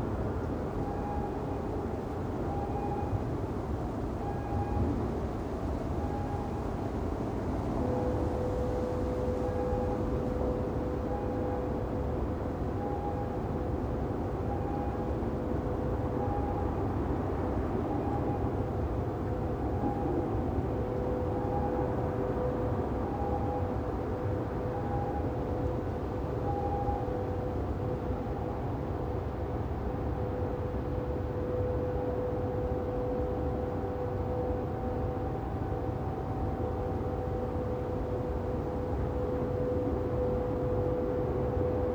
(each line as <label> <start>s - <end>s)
wind 0.0s - 41.9s
distant bleeping trains 30.1s - 41.9s